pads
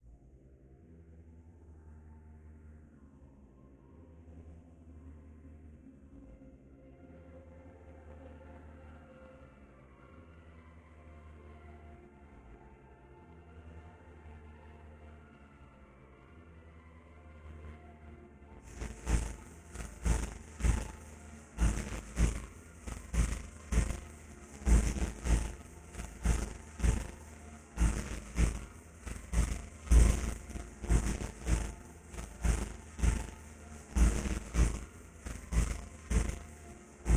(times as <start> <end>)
18.7 37.1